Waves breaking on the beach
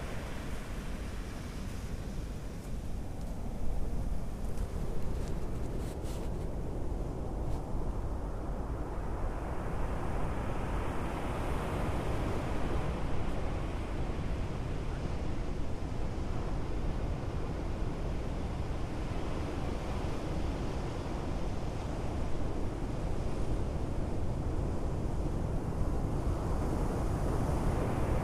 0:00.0 0:07.2

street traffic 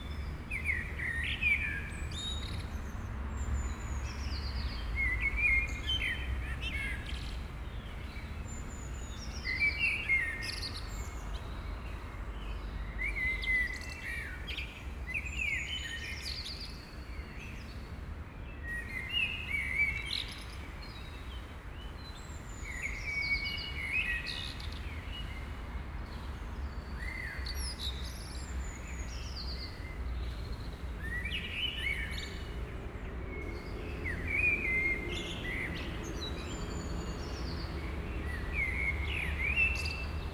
0:29.8 0:40.3

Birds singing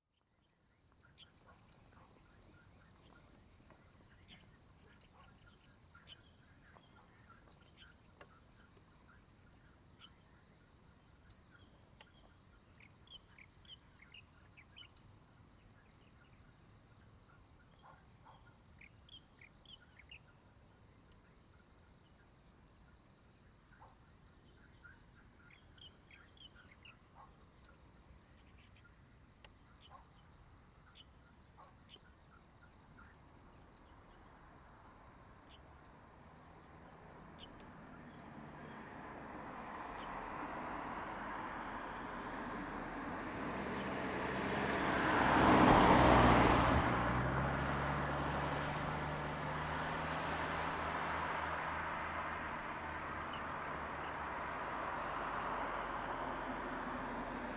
0:00.4 0:20.4, 0:23.7 0:34.3

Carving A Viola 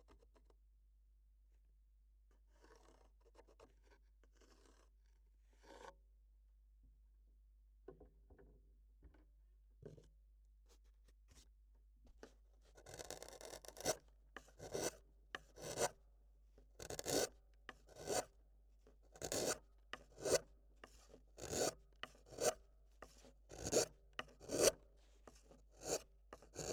0:12.8 0:16.0, 0:16.8 0:18.3, 0:19.2 0:26.7

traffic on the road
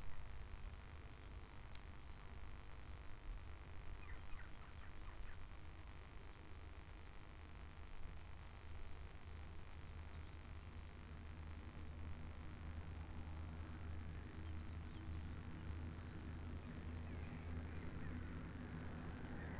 0:10.6 0:19.5

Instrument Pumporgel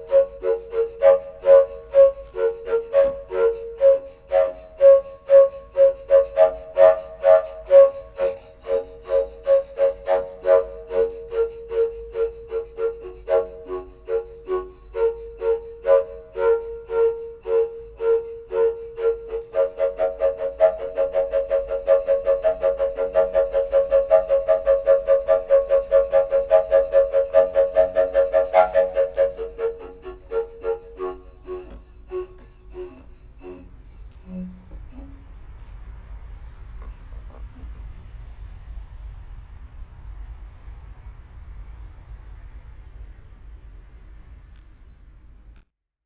0:00.0 0:35.9

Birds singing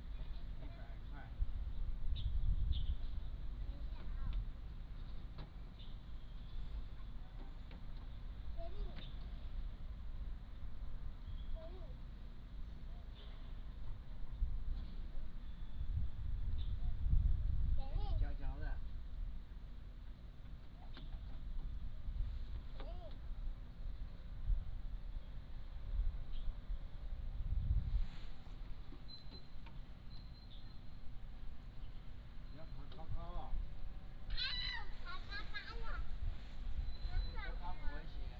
0:28.9 0:36.1, 0:36.7 0:38.3

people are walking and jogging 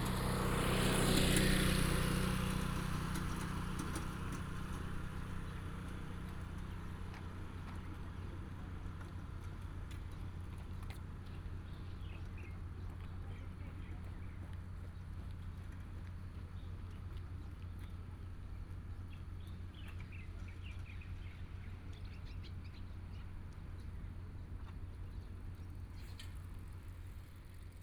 0:05.0 0:25.9

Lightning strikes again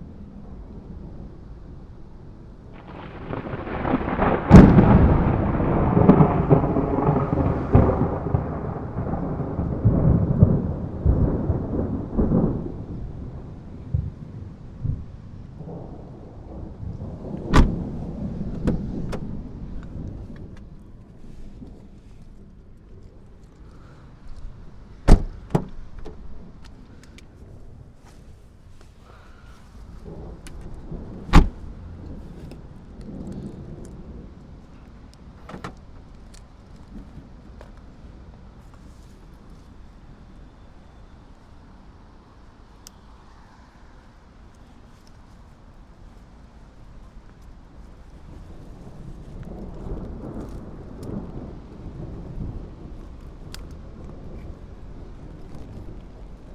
0:02.7 0:20.7, 0:30.0 0:34.4

